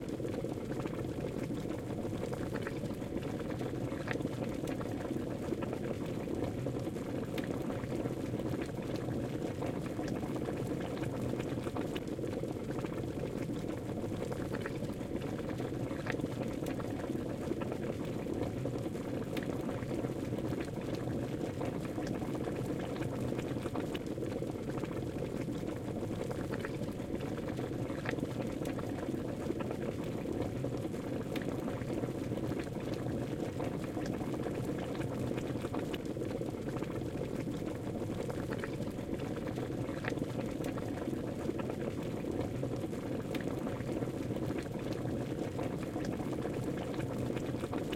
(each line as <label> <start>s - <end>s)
Boiling water 0.0s - 47.9s